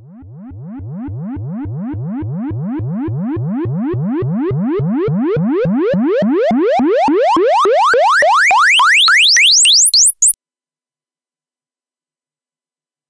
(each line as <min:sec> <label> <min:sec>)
0:00.0 bleeps and sweeps 0:10.4